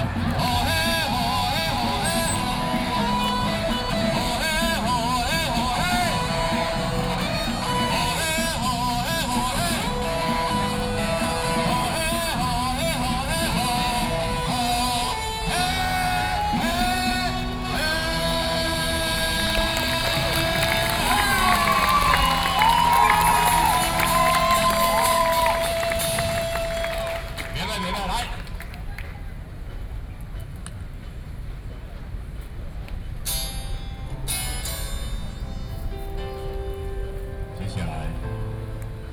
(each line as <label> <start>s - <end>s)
Taiwanese singer 0.0s - 28.5s